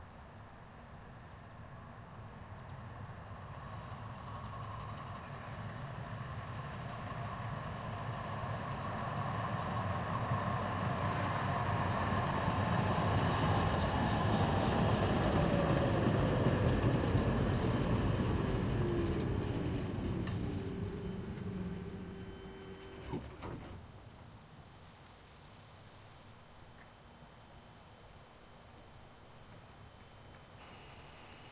tram exterior08 driveby stops leaving fade away 0:02.6 - 0:23.7

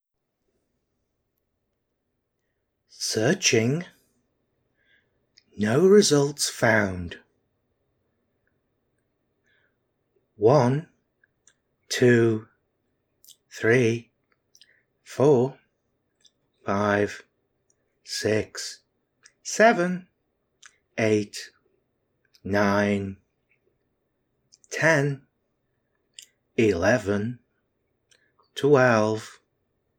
voice session 0:02.9 - 0:04.0
voice session 0:05.4 - 0:07.3
voice session 0:10.4 - 0:10.9
voice session 0:11.9 - 0:12.5
voice session 0:13.2 - 0:14.1
voice session 0:15.1 - 0:15.6
voice session 0:16.6 - 0:17.3
voice session 0:18.1 - 0:21.6
voice session 0:22.4 - 0:23.3
voice session 0:24.6 - 0:25.3
voice session 0:26.2 - 0:27.5
voice session 0:28.6 - 0:29.4

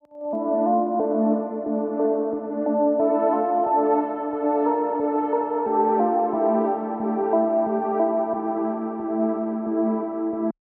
SYNTH 0:00.1 - 0:10.6

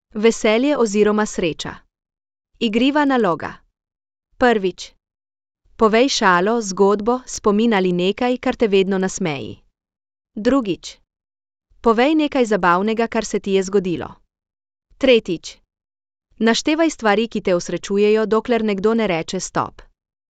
speech 0:00.1 - 0:01.8
speech 0:02.6 - 0:03.6
speech 0:04.4 - 0:05.0
speech 0:05.8 - 0:09.6
speech 0:10.4 - 0:11.0
speech 0:11.8 - 0:14.2
speech 0:15.0 - 0:15.6
speech 0:16.4 - 0:19.9

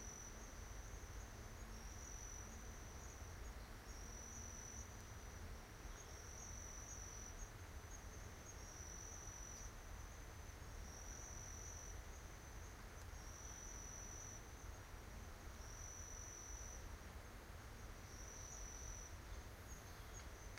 crickets 0:00.0 - 0:20.5

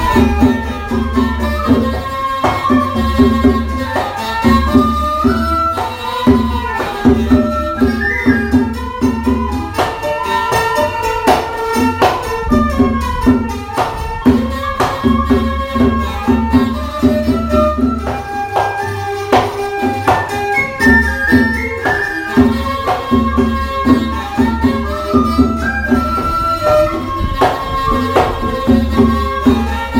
Mohori music played at a school 0:00.0 - 0:29.9

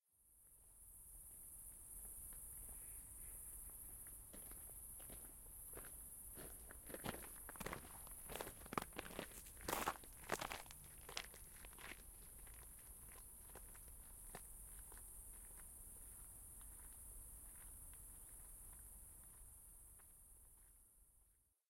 crickets 0:00.2 - 0:21.3
gravel stone walk 0:03.6 - 0:20.8

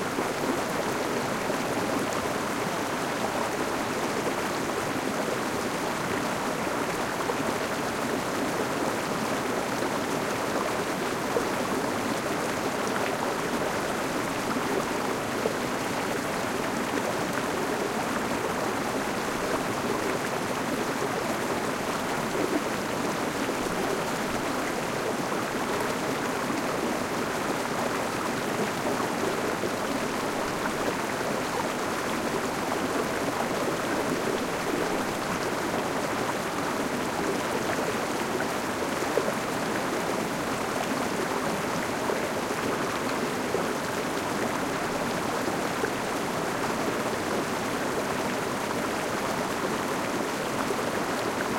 small river 0:00.0 - 0:51.5

